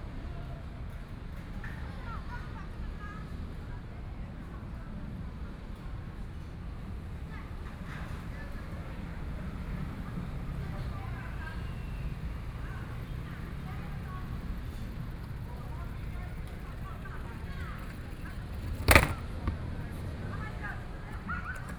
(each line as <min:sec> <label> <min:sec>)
0:11.0 Traffic Sound 0:21.7